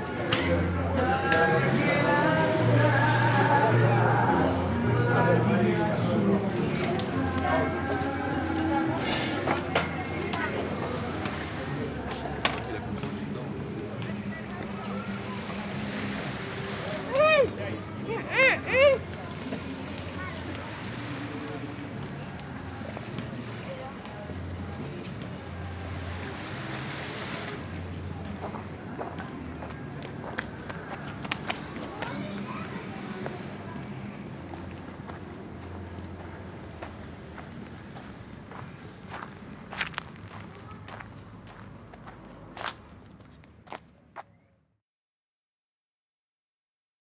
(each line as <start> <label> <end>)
0.0 music 30.5